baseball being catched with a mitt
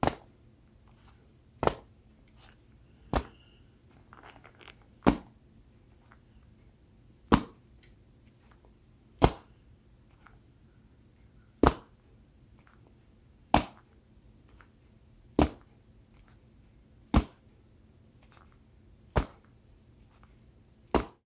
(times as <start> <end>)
0.0 0.4, 1.6 2.0, 3.1 3.5, 5.0 5.4, 7.2 7.6, 9.2 9.6, 11.6 12.0, 13.5 13.9, 15.4 15.7, 17.1 17.5, 19.1 19.6, 20.9 21.2